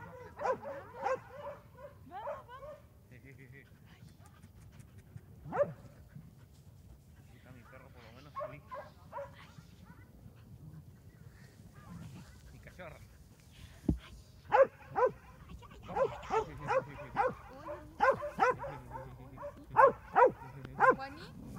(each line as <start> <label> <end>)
0.0 Dogs barking 2.9
0.0 humans also call the dogs and talk 4.6
0.0 dogs are running and playing 21.5
5.4 Dogs barking 5.9
7.0 humans also call the dogs and talk 21.5
8.2 Dogs barking 9.5
14.5 Dogs barking 21.5